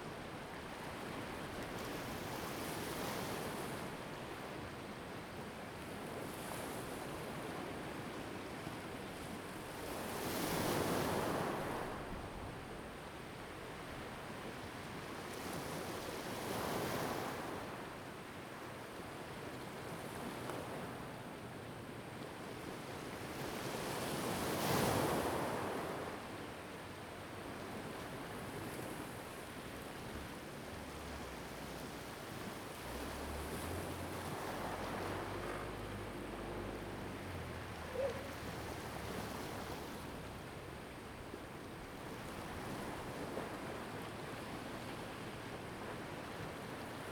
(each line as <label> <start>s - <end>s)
waves 0.0s - 47.1s